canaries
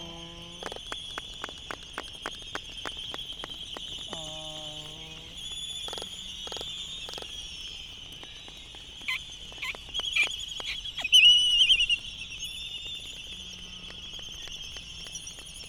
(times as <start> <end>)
3.4 15.6